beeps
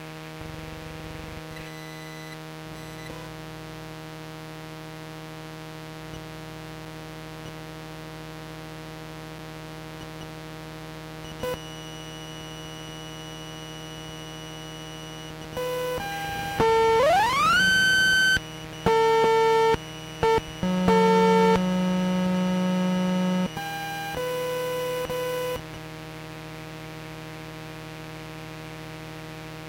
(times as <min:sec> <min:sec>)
0:01.5 0:03.1, 0:11.3 0:25.6